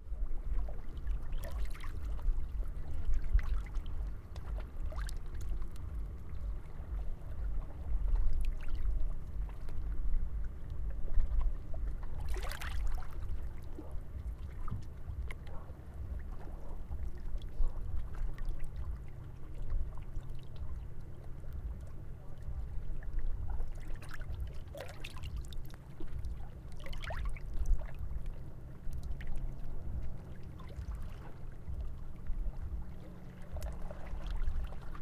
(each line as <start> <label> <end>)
0.0 Waves 35.0